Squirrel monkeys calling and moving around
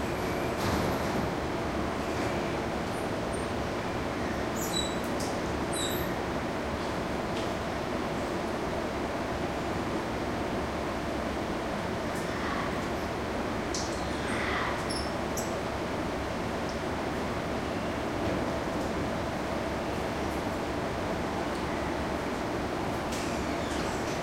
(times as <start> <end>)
4.6 5.1, 5.7 6.1, 13.8 15.6